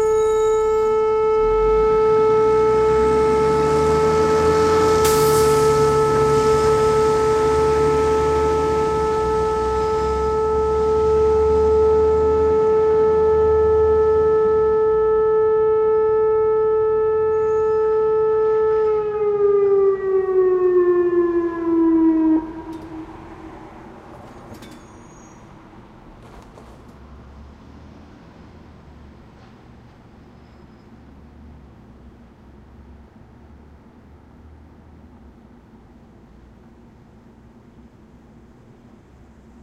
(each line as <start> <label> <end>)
0.0 tornado siren test 25.7